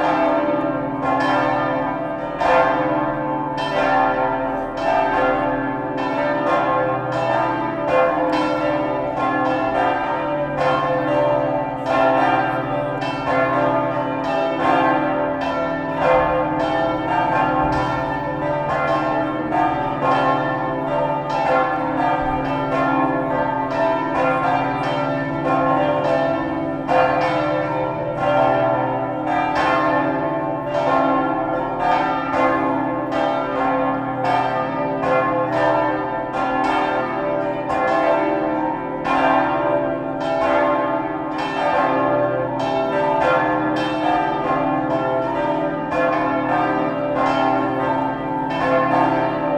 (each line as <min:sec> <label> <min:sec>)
0:00.0 Cathedral bells 0:49.5